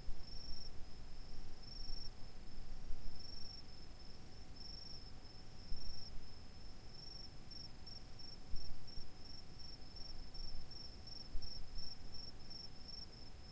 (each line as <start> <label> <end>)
3.2 distant crickets chirping 13.3